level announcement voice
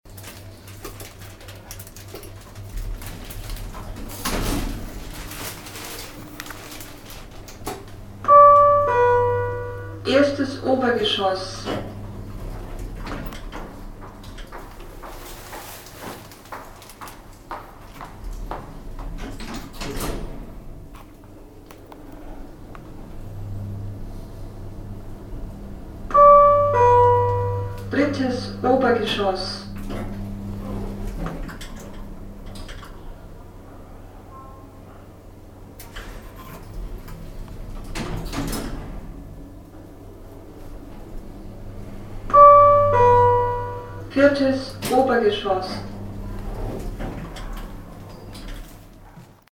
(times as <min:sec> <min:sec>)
0:08.3 0:12.0, 0:26.2 0:29.9, 0:42.4 0:46.0